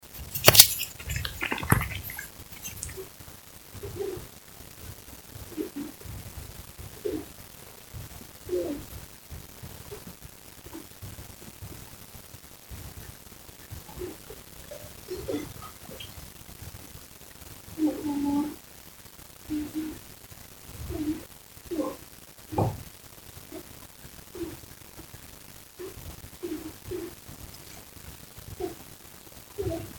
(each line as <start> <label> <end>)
0.3 orgasm 3.1